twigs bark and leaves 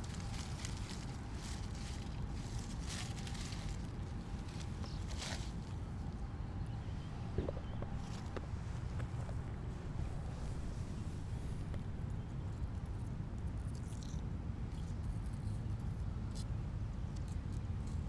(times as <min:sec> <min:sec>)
0:00.0 0:09.4